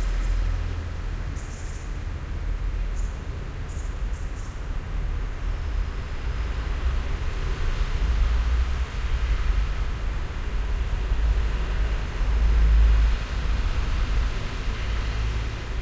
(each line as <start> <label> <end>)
4.7 cars driving over the cobbled street 15.8